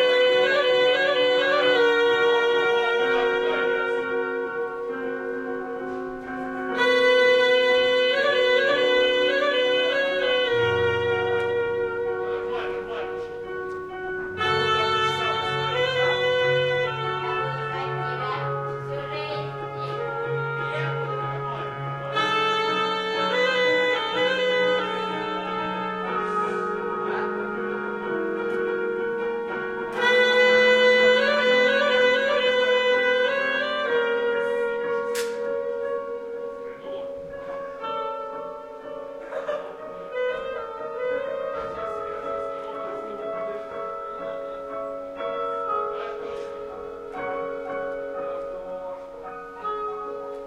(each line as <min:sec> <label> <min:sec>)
0:00.0 musicians rehearsing 0:50.4
0:08.2 stage workers talking 0:28.6